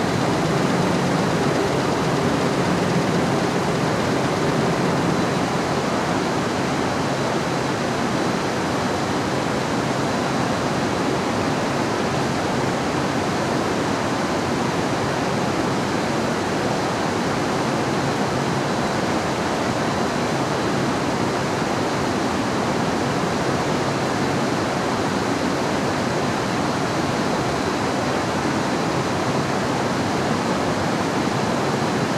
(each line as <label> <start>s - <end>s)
Factory machine 0.0s - 7.0s